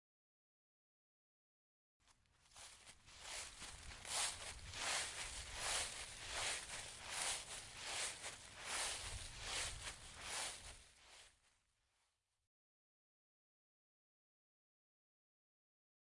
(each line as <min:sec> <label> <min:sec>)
0:02.3 Walking through leafs 0:11.4